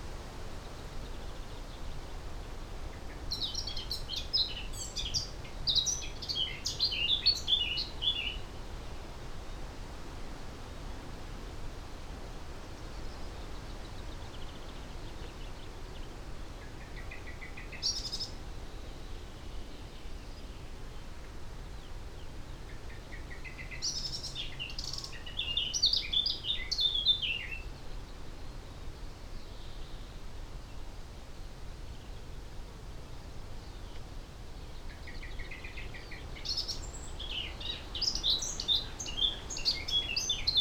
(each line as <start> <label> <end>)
3.0 blackcap song 8.4
22.9 blackcap song 27.7
34.6 blackcap song 40.6